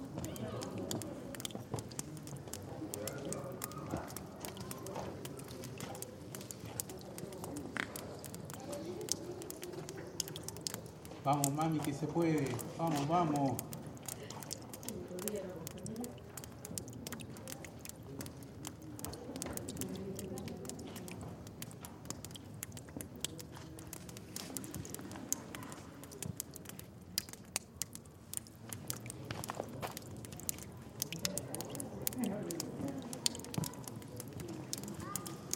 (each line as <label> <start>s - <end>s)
Tourists 0.0s - 35.5s
dripping water 0.0s - 35.5s